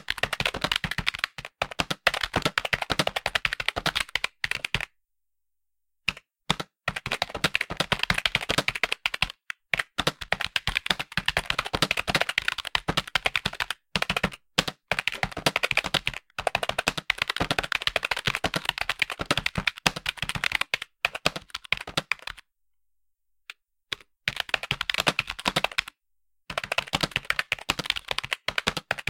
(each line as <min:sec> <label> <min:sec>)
0:00.0 Typing on computer keyboard 0:04.9
0:06.1 Typing on computer keyboard 0:22.4
0:23.9 Typing on computer keyboard 0:29.0